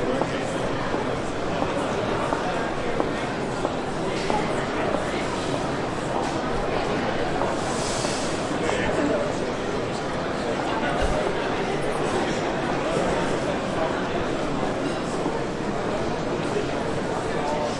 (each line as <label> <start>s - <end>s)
Walk 0.0s - 5.5s